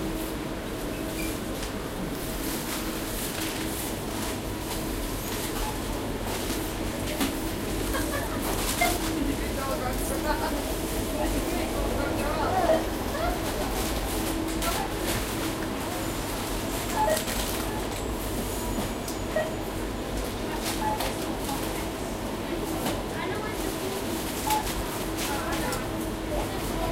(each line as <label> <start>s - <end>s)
cashier 3.2s - 10.1s
cashier 13.5s - 18.2s
cashier 24.0s - 26.1s